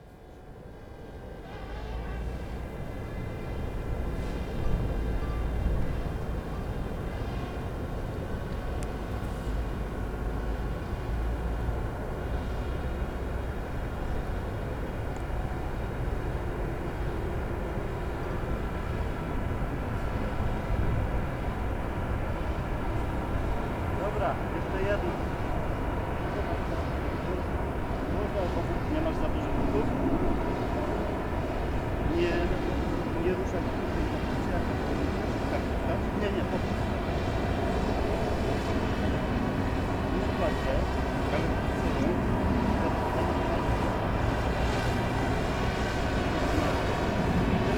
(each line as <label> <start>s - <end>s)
truck 0.0s - 28.6s